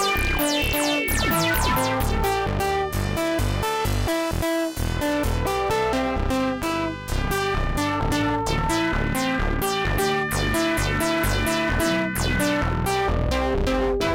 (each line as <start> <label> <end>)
0.0 bleep 2.6
0.0 bass 14.1